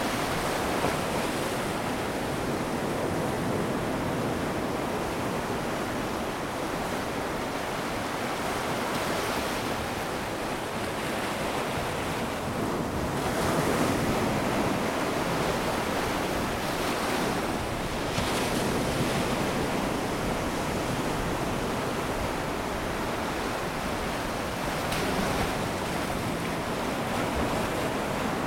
0.0s waves breaking on beach 28.4s

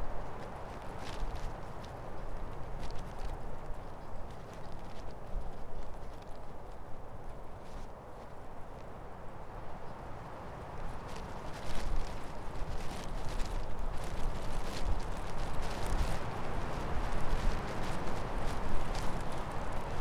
0.0s plastic in wind 20.0s

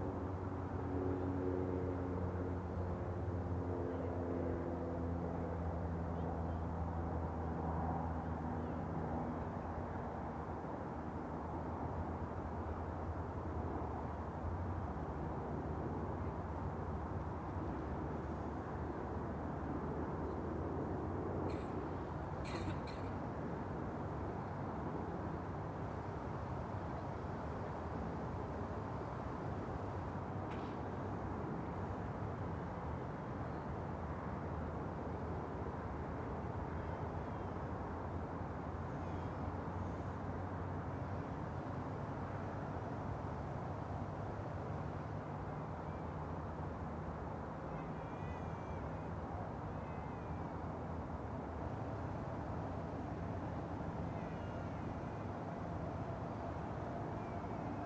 0.0s Small planes 57.8s
22.4s crows 23.1s
47.7s crows 49.0s

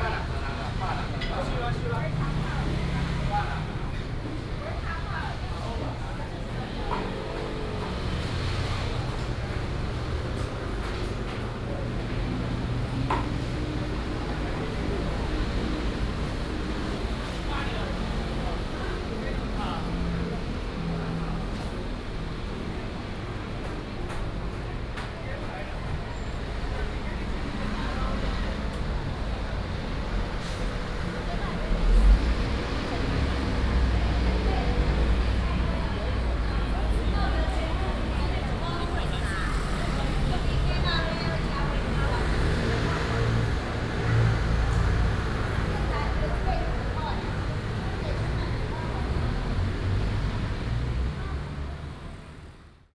0.0s Railway crossings 51.1s
0.0s Traveling by train 52.8s
0.0s Traffic Sound 52.9s

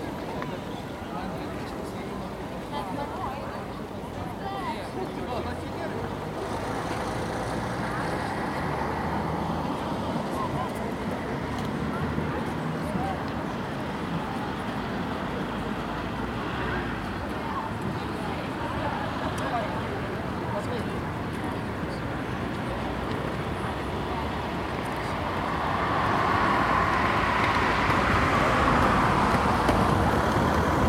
0.0s bikes 30.8s

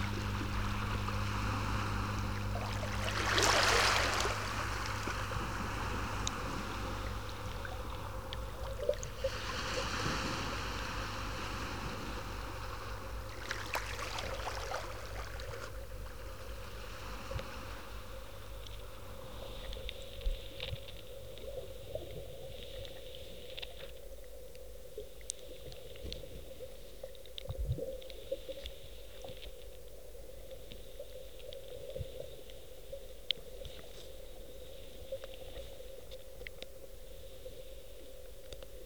0.0s Propellerplane above the se 20.2s

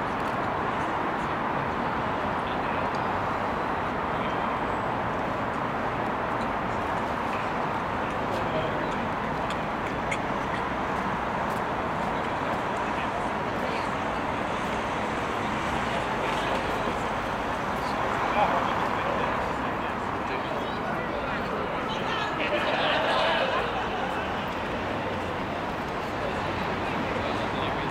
0.0s pedestrians walking 27.9s
0.0s vehicles passing 27.9s
13.8s distant bar chatter 27.9s
22.4s distant laughter 24.4s

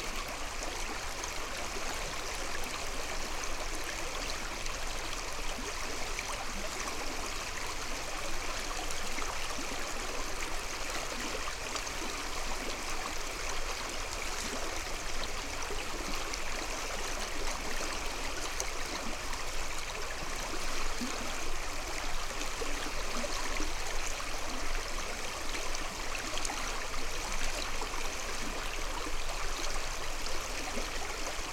0.0s the river 31.5s

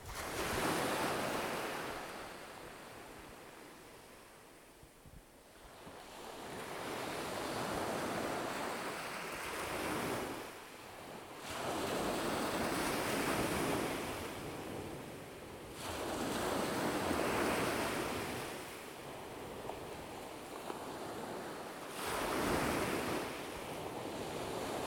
0.0s Waves on pebbles 2.0s

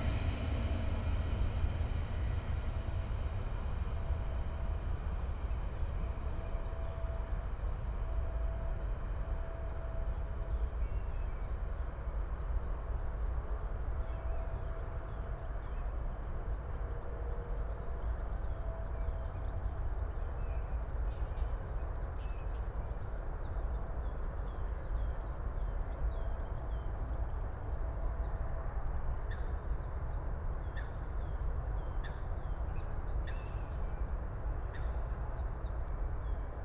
0.0s S-Bahn trains passing by 36.6s

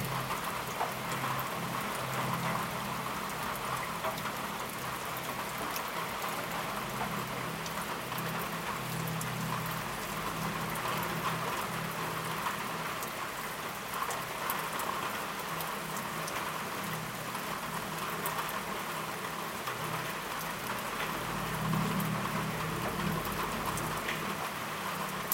0.0s rain on leaves 25.3s
0.0s rain on veranda 25.3s

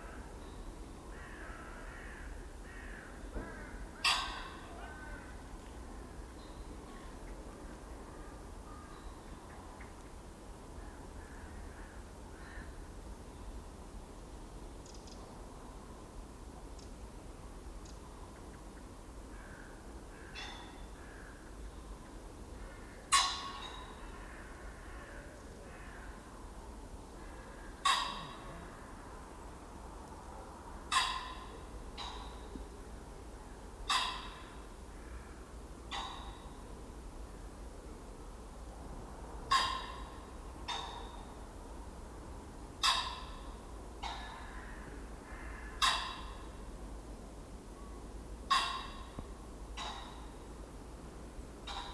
1.1s crows chat to each other 5.5s
1.2s pheasants squabble before roost 6.2s
22.6s crows chat to each other 26.3s
27.2s pheasants squabble before roost 29.1s
27.2s crows chat to each other 29.0s
30.8s pheasants squabble before roost 32.9s
33.5s pheasants squabble before roost 35.3s
39.5s pheasants squabble before roost 41.2s
42.8s pheasants squabble before roost 46.6s
47.8s pheasants squabble before roost 49.2s

